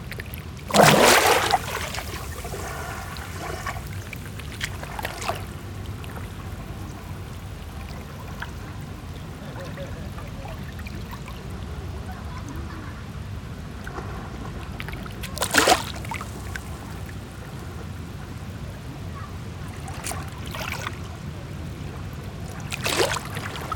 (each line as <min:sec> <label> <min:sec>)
0:00.0 Calm waves 0:23.7